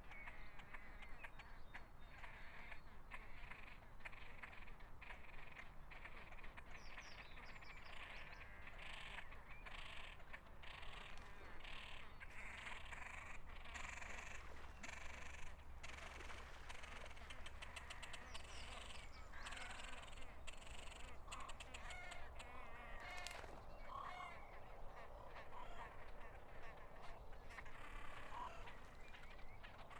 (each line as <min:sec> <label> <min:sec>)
0:00.0 Water 0:29.9
0:07.9 geese 0:29.9
0:09.6 Great crested grebes nesting 0:29.9
0:10.6 reed buntings 0:29.9
0:10.6 coots 0:29.9